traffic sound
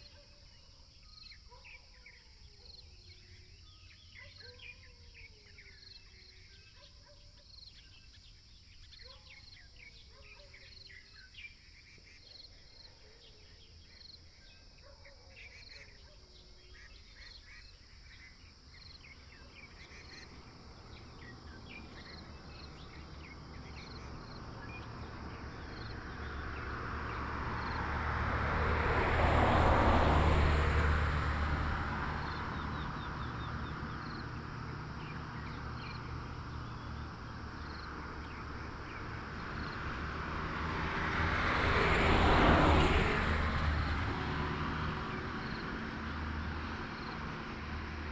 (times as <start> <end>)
17.9 48.1